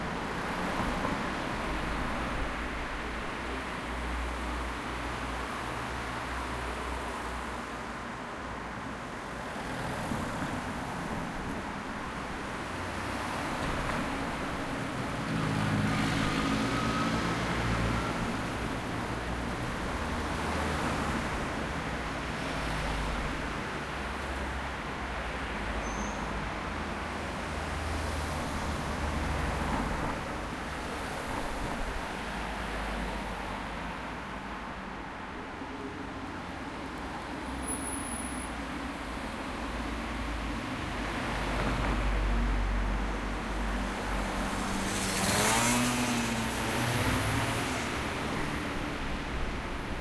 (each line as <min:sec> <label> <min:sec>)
0:00.0 Traffic jam passing from left to right channel 0:50.0